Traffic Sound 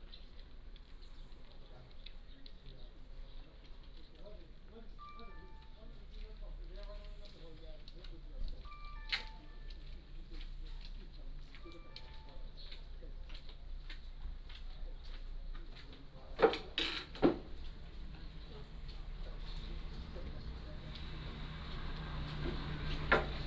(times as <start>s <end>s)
17.3s 23.4s